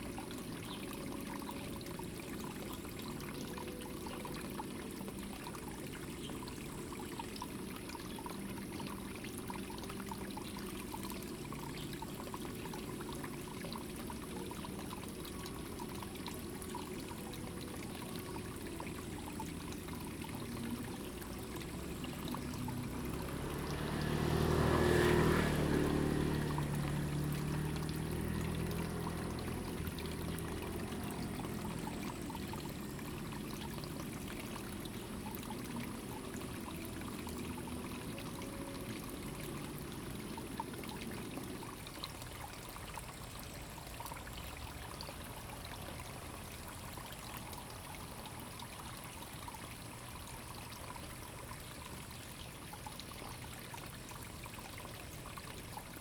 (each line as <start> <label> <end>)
0.0 water 56.0